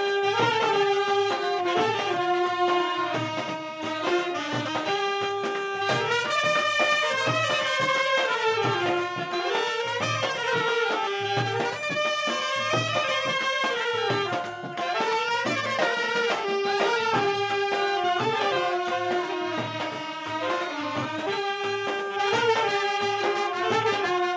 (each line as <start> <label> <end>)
0.0 Fanfare 24.3